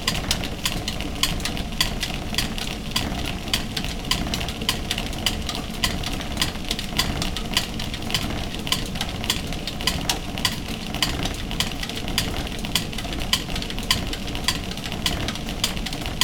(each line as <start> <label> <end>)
0.0 Spinning machinery 16.2